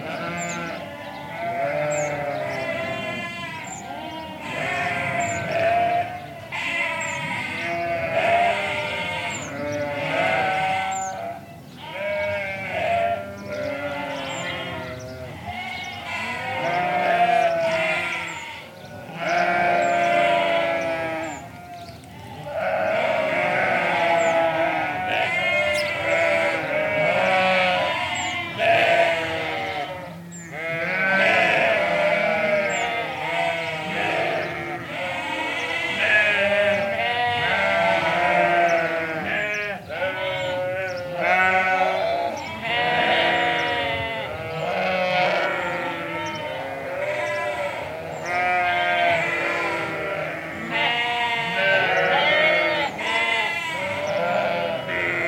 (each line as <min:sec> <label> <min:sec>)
0:00.0 sparrows 0:55.2
0:00.0 Sheep all baaing 0:55.2